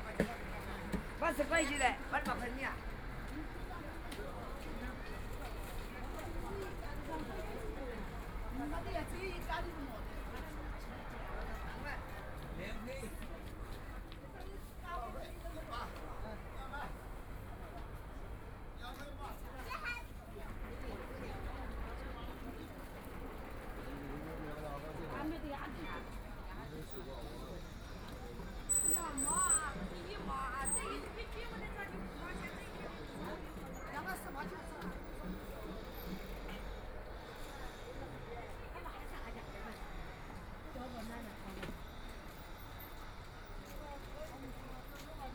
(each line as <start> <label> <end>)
0.0 street under construction 45.3